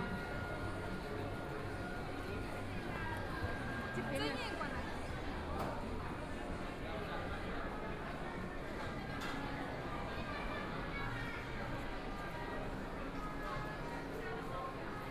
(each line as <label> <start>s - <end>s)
Various shops voices 0.0s - 15.1s